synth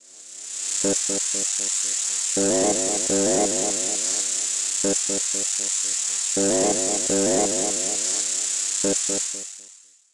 0:02.4 0:05.4, 0:06.4 0:09.4

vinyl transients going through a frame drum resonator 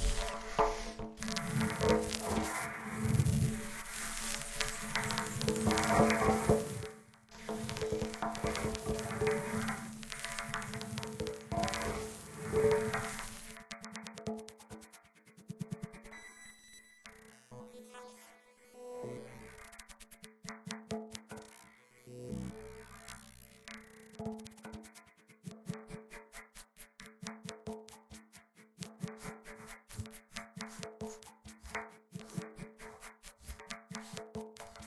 0:00.0 0:14.2

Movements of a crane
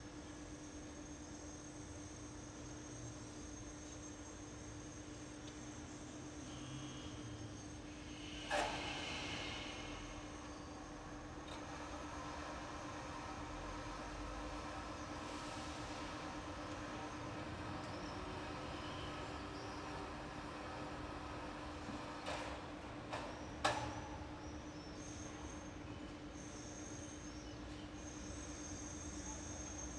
0:07.1 0:29.9

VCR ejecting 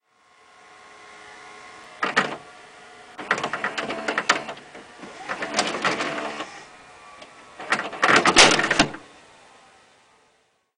0:02.0 0:02.5, 0:03.2 0:09.0

